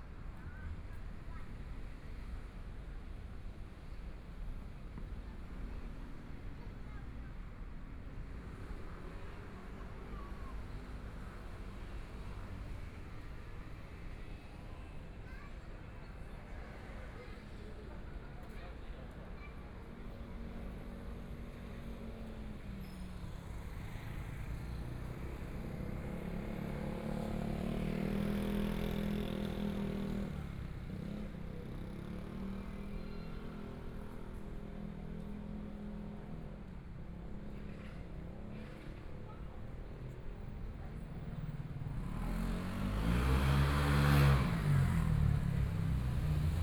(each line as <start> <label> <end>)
37.3 Traffic Sound 46.6
41.3 Motorcycle sound 46.6